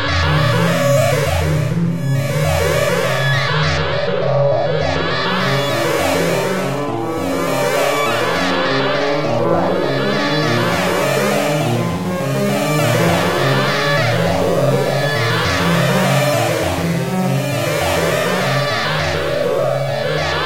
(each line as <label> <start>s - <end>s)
synthesizer 0.0s - 20.4s